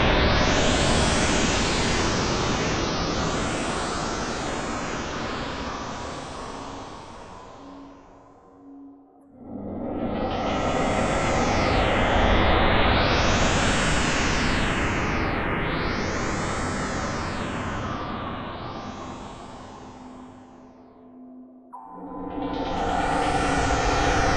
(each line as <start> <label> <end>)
21.7 darker atonal horror pads / stabs 24.3